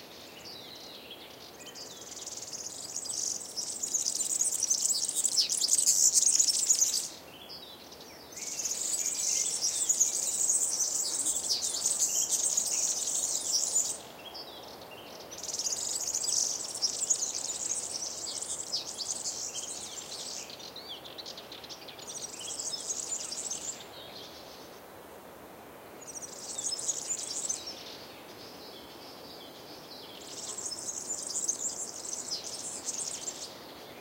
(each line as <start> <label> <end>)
0.0 Serins, with the characteristic high-pitched, in-a-hurry call 24.8
0.0 breeze on trees 34.0
26.0 Serins, with the characteristic high-pitched, in-a-hurry call 34.0